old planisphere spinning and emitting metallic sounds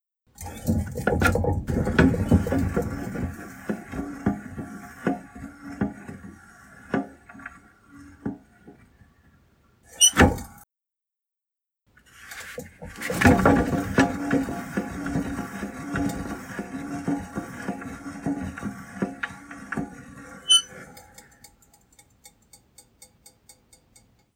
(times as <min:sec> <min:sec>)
0:00.4 0:09.1, 0:12.2 0:21.8